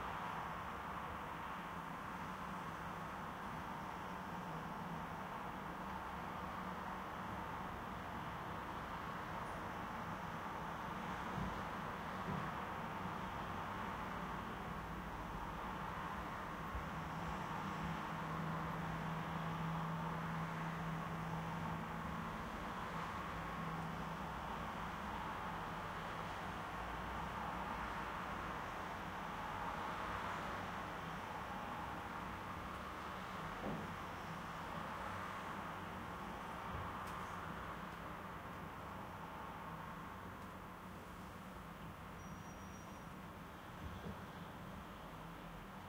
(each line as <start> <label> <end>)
0.0 muffled road 45.8